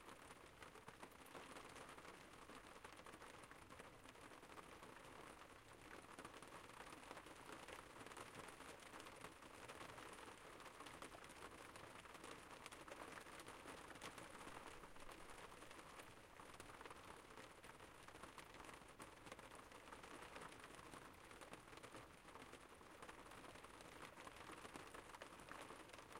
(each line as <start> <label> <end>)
0.0 rain 26.1